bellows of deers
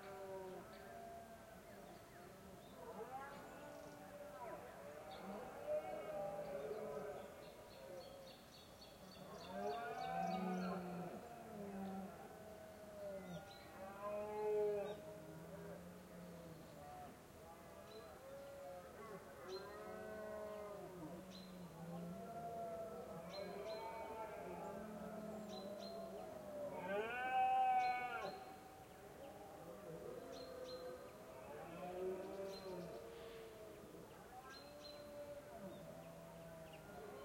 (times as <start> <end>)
22.1 25.4, 26.7 28.7